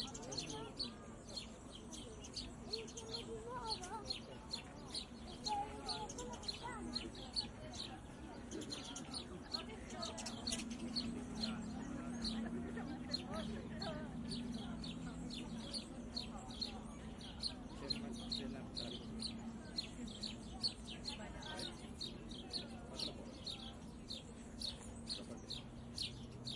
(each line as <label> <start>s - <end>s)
nearby conversations 0.0s - 26.5s